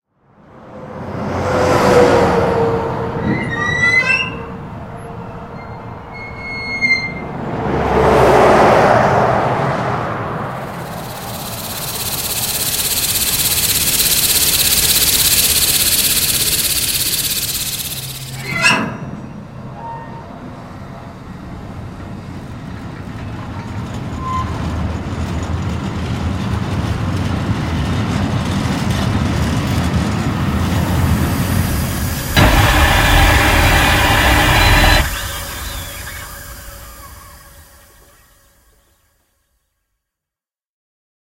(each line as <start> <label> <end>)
1.0 diesel locomotive coming to a halt 38.8
3.2 squeak 4.6
5.5 squeak 7.3
7.3 truck driving by 18.6
10.6 gas escaping from a valve 18.6
10.6 mechanical rattles 18.7
10.6 squeak 20.4
29.6 truck driving by 38.7
30.6 gas escaping from a valve 38.3
30.7 mechanical rattles 38.3
31.8 squeak 38.4